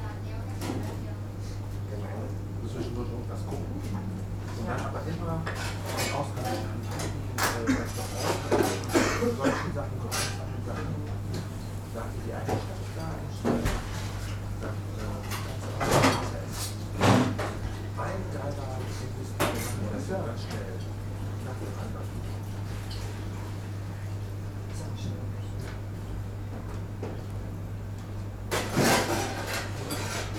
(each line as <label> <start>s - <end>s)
ventilation hum 0.0s - 30.3s